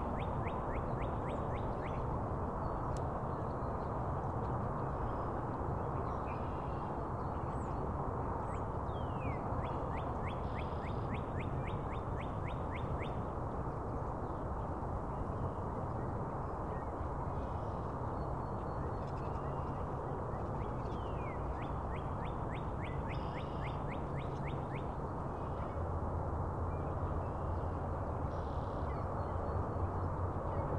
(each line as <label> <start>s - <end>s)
freeway in the background 0.0s - 30.7s